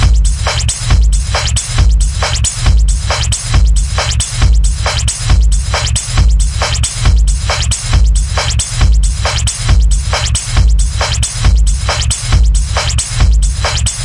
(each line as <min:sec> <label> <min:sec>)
0:00.0 beat 0:14.0